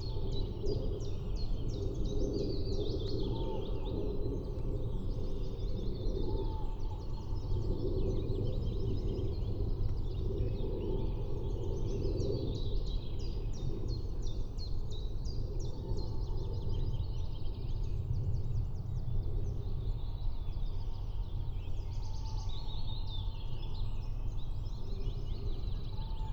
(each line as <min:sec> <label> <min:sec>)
0:00.0 constant rumble of aircrafts 0:26.3